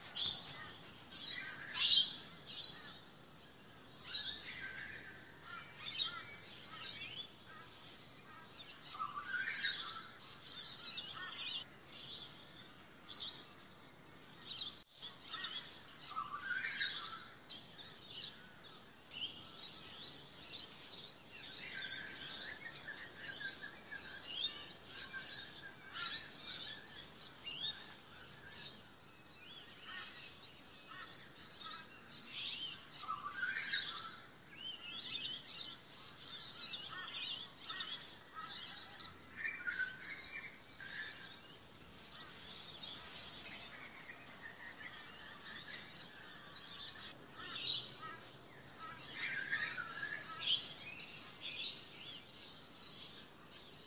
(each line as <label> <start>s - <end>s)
bird sounds 0.0s - 53.8s